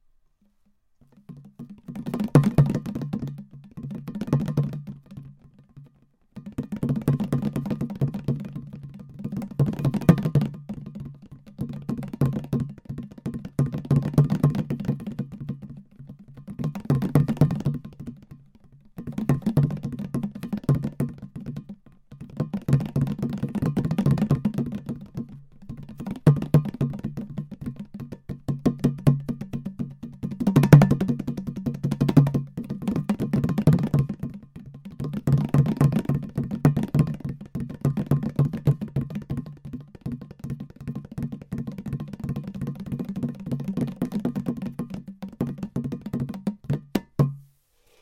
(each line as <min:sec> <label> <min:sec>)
0:00.0 small clay drum, rolling sound with fingers 0:48.0